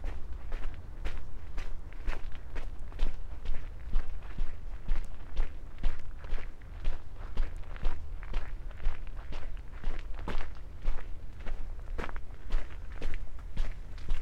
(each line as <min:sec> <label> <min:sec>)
0:00.0 round walk in the city park 0:14.2